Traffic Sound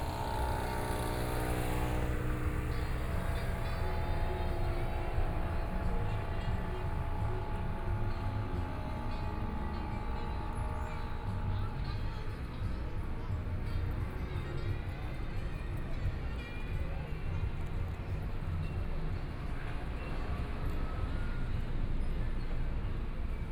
0.0 14.0

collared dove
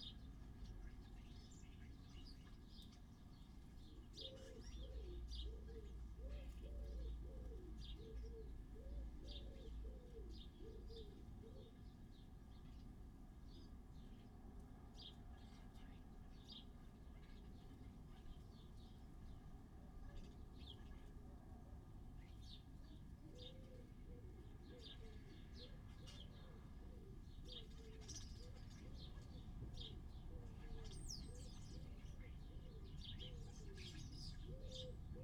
1.9 12.9, 22.2 35.2

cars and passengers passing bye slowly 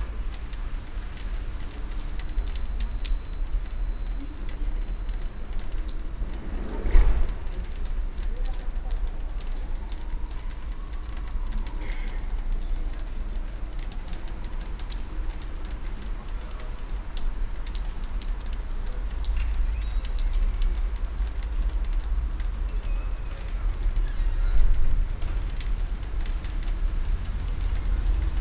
0.0 18.0

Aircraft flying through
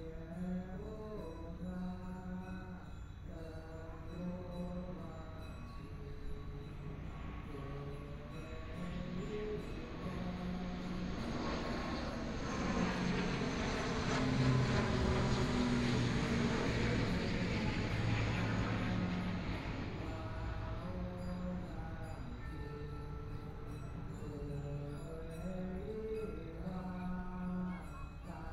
6.8 24.1

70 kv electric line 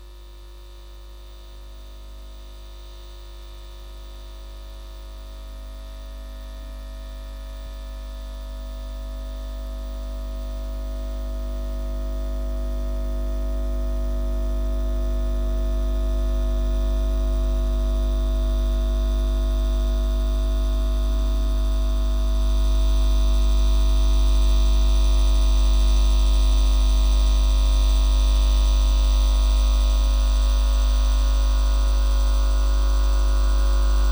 15.5 34.1

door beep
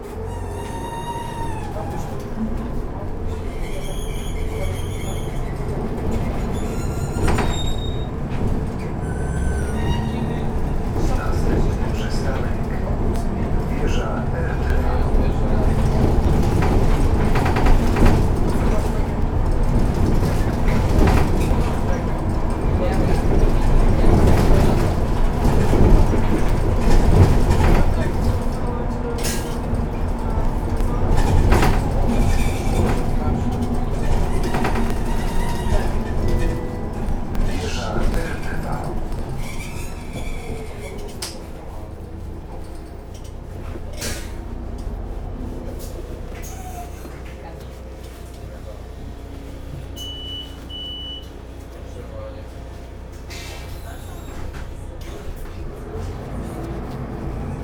50.0 51.3

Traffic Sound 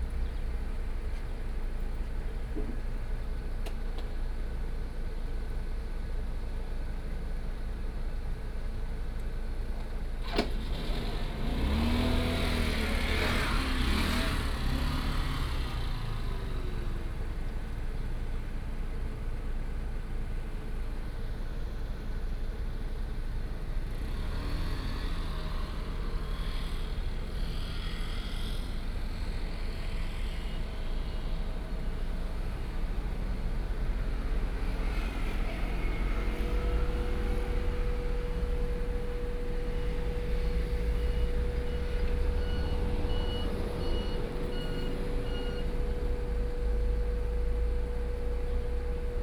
10.2 18.3, 21.7 49.2

